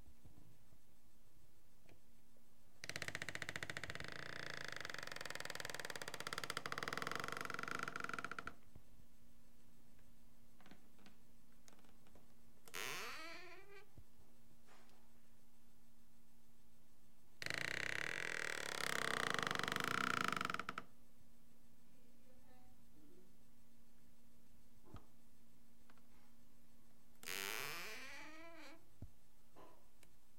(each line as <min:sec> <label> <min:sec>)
0:02.8 creeky old wooden door 0:08.6
0:12.7 creeky old wooden door 0:13.9
0:17.4 creeky old wooden door 0:20.8
0:27.2 creeky old wooden door 0:28.8